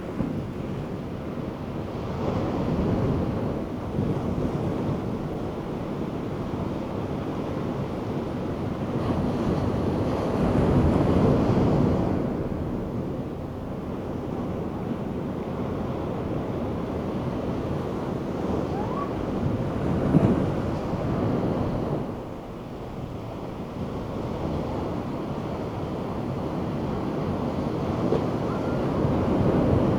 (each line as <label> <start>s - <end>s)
wind 0.0s - 29.9s
kid playing in surf 13.8s - 22.2s
surf 24.5s - 29.9s
kid playing in surf 24.9s - 29.9s